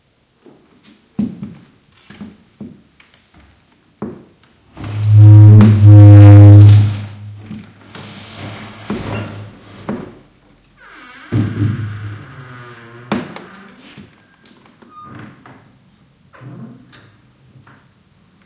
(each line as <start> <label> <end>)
4.8 sagging door that rubs the floor 10.2